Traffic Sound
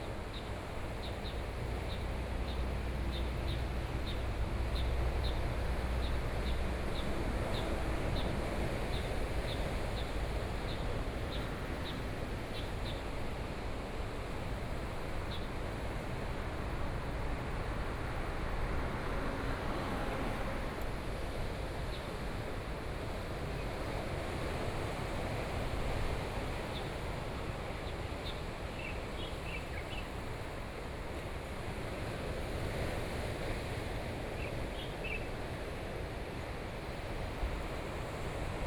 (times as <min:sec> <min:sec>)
0:17.7 0:21.0